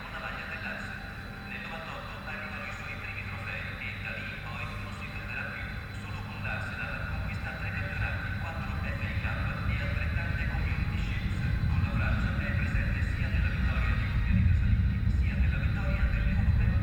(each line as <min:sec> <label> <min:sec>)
0:05.0 train approaching with amazing bass sounds 0:16.8